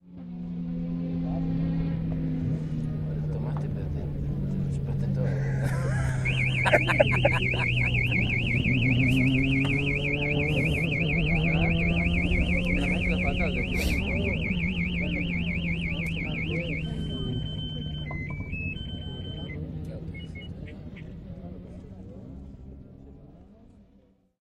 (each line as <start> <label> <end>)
0.0 cars 24.4
3.1 voice 23.8
5.2 laughter 8.3
5.3 siren 21.2